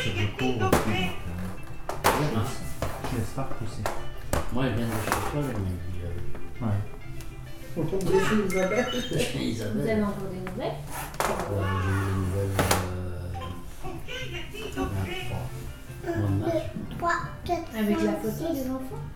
0.0s people discuss 19.1s
11.4s young children plays 15.2s
15.9s young children plays 19.1s

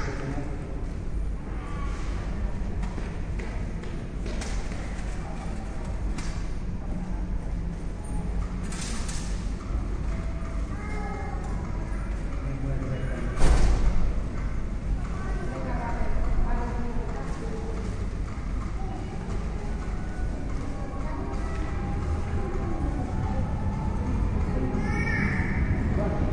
10.6s voices of children 12.4s
15.0s voices of children 16.1s
18.6s voices of children 26.3s

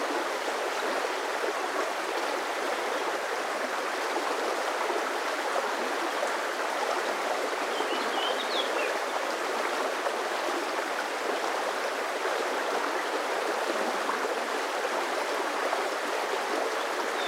0.0s River 17.2s

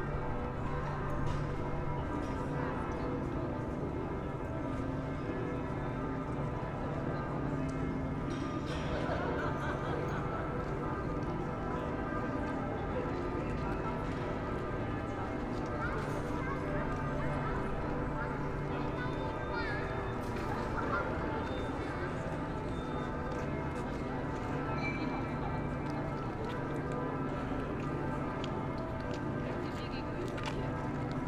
0.0s sounds of the restaurant 31.2s

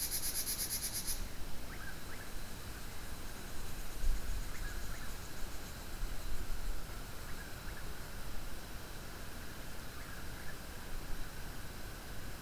0.0s other bugs 1.2s
0.0s frogs 2.3s
0.0s cicadas 8.0s
0.0s Wind 12.4s

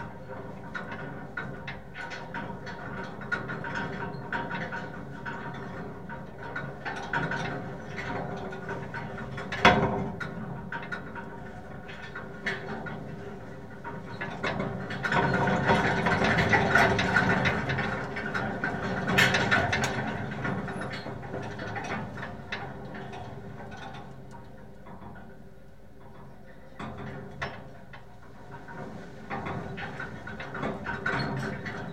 0.0s wind 31.9s

